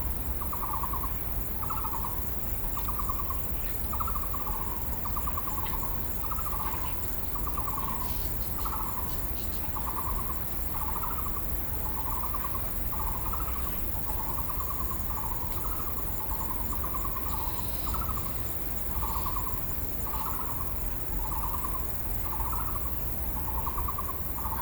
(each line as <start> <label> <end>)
13.0 Bird calls 20.4